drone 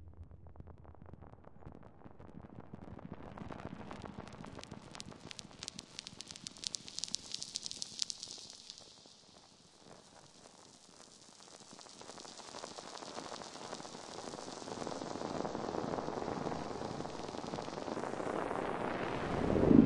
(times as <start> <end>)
18.4 19.8